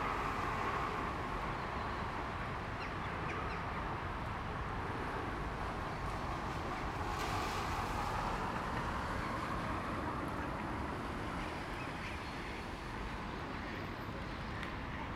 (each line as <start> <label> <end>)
0.0 cars and busses humming by 15.1